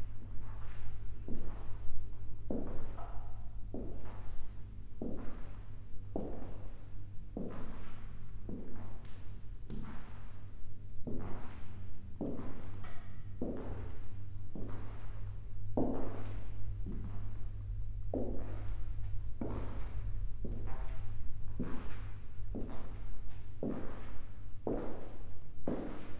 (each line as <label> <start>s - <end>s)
walk through exhibition halls, parquet 0.0s - 26.1s